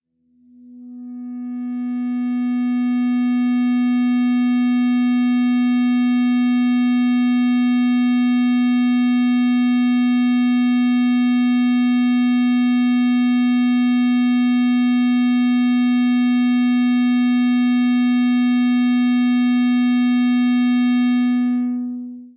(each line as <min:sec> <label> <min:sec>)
0:00.4 Feedback from the open E (6th) string 0:05.1
0:21.0 Feedback from the open E (6th) string 0:22.3